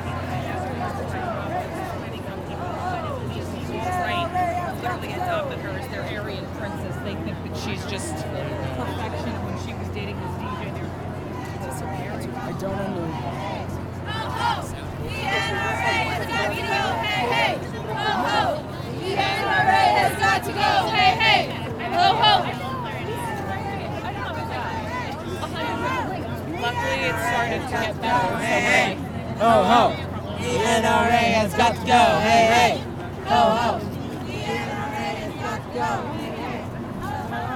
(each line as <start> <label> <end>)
11.5 protest 37.4